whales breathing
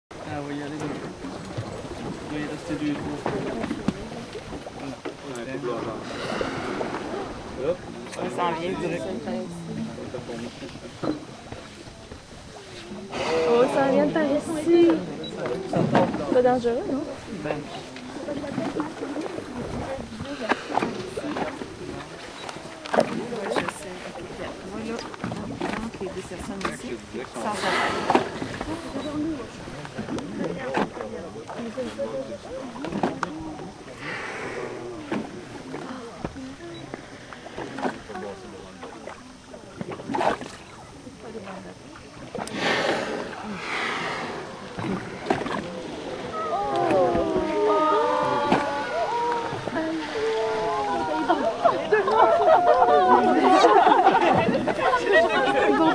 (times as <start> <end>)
5.8 7.6, 12.8 13.9, 34.0 36.2, 42.4 51.6